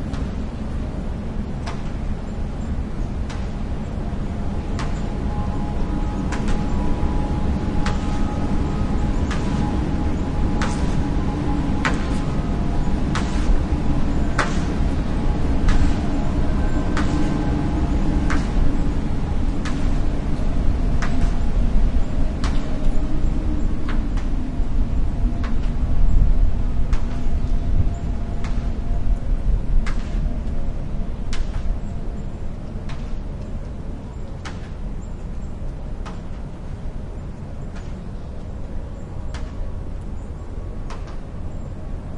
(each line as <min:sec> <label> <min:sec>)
0:00.0 metal parts of the tower produce soft, eerie tones 0:42.1
0:00.0 wind whistling in a large radio tower 0:42.1